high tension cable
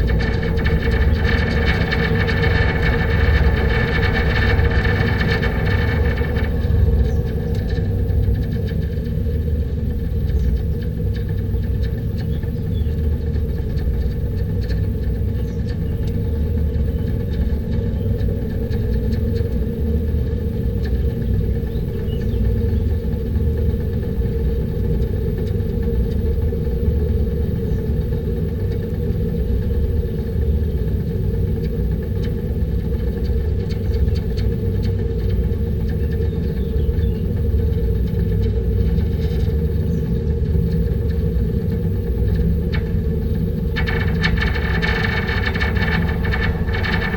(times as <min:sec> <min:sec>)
0:42.1 0:47.1